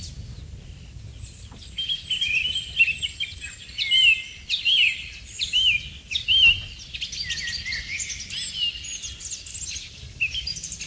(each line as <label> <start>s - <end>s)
BIRDS 0.0s - 10.8s